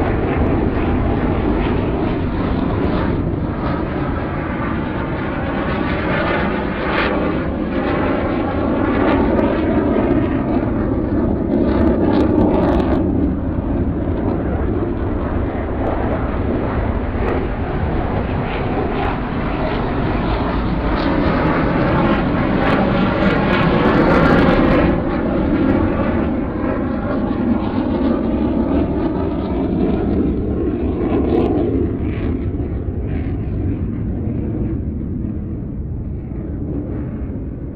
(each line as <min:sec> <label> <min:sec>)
0:00.0 Fighter flight 0:37.7